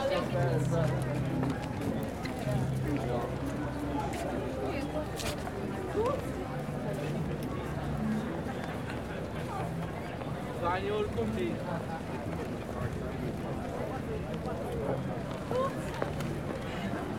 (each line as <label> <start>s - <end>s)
buskers 0.0s - 17.1s